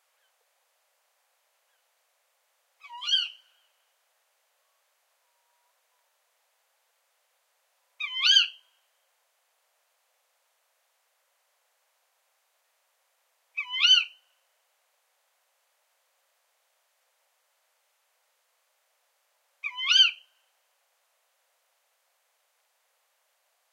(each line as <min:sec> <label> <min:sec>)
0:02.8 tawny owl 0:03.8
0:04.6 tawny owl 0:06.2
0:08.0 tawny owl 0:08.9
0:13.5 tawny owl 0:14.2
0:19.6 tawny owl 0:20.4